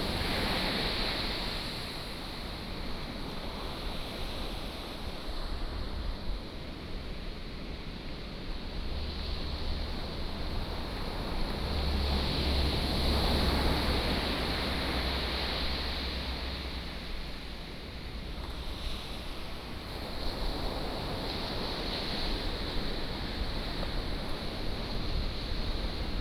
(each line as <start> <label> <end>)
0.0 waves 26.2